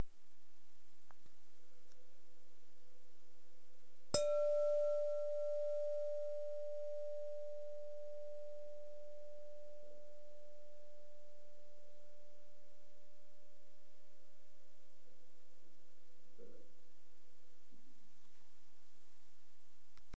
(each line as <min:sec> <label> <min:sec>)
0:04.2 Striking glass bowl with the nail 0:10.0